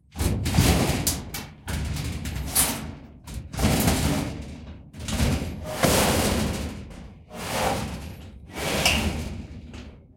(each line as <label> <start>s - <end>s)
long-metal-scrape-03 5.6s - 6.6s
long-metal-scrape-03 7.3s - 9.3s